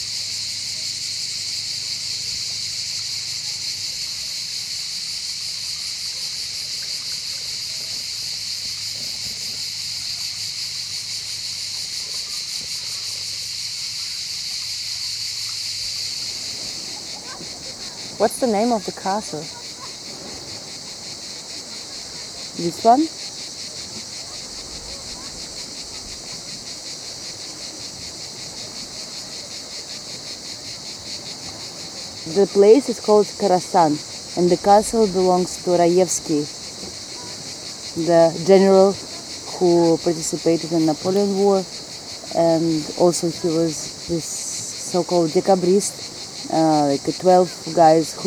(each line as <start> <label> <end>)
0.0 cicades 48.2
0.3 kids play in the water 45.3
15.9 seawaves 48.2
17.9 svetlana introduces the villa / castle 19.8
22.4 svetlana introduces the villa / castle 23.2
32.2 svetlana introduces the villa / castle 36.6
37.9 svetlana introduces the villa / castle 48.2